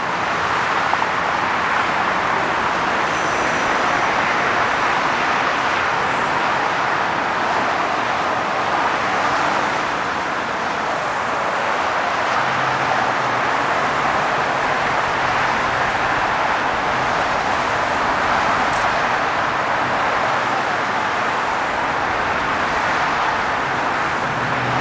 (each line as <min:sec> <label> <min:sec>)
0:00.0 traffic 0:24.8